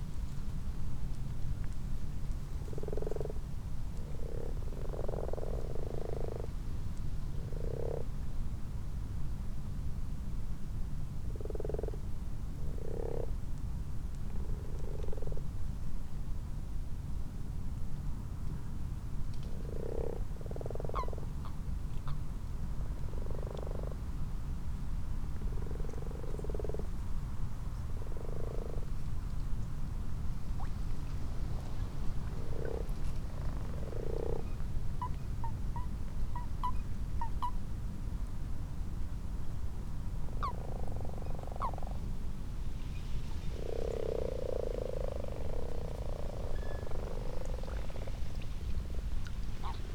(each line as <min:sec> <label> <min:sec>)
0:02.4 common frogs 0:08.4
0:02.6 common toads 0:06.5
0:07.4 common toads 0:08.1
0:11.2 common frogs 0:13.5
0:11.3 common toads 0:12.0
0:12.6 common toads 0:13.4
0:14.2 common frogs 0:15.6
0:14.4 common toads 0:15.4
0:19.4 common frogs 0:24.4
0:19.5 common toads 0:22.2
0:23.0 common toads 0:24.1
0:25.3 common frogs 0:29.4
0:25.4 common toads 0:27.0
0:27.8 common toads 0:29.0
0:30.4 common frogs 0:37.6
0:30.5 common toads 0:37.6
0:40.3 common frogs 0:42.1
0:40.3 common toads 0:42.0
0:43.2 common frogs 0:49.9
0:43.2 common toads 0:49.9